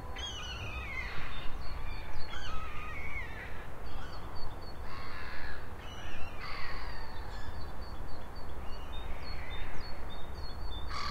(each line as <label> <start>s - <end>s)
small birds twittering and singing 0.0s - 11.1s